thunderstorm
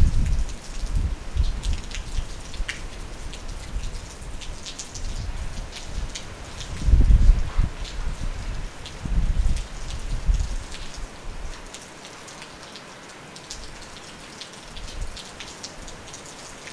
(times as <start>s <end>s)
0.0s 2.9s, 3.5s 10.7s